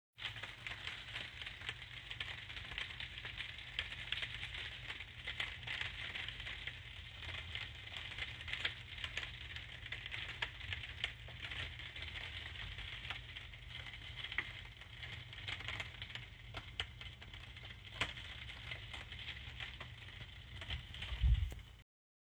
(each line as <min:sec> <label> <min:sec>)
0:00.2 rain falling on a plastic roof 0:21.8